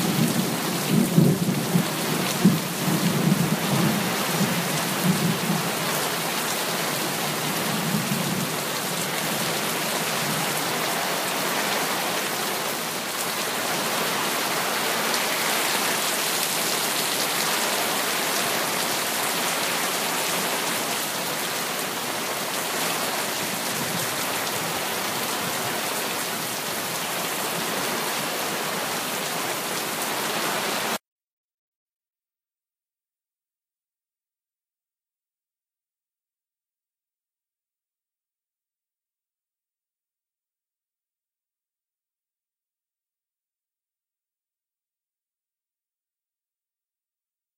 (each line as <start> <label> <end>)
0.0 heavy rain 31.0